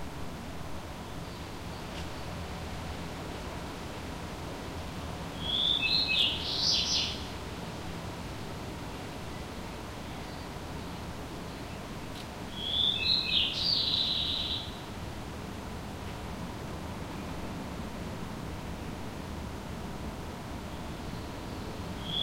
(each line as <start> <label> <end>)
5.3 birdsong 7.4
12.5 birdsong 14.9
20.6 birdsong 22.2